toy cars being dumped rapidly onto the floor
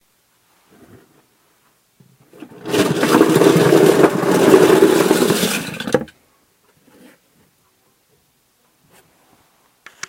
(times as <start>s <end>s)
2.3s 6.1s